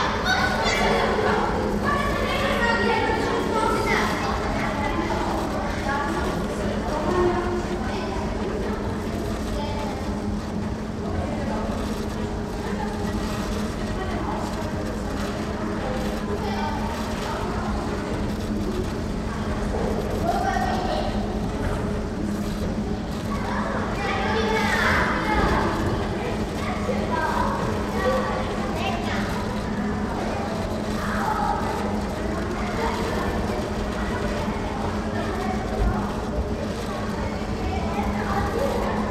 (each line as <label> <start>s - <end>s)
children entering karstadt department store 0.0s - 39.1s